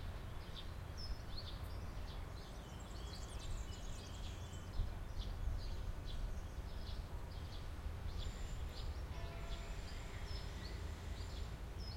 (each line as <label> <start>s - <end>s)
birds 0.0s - 11.9s
Church bells in distance 9.2s - 9.9s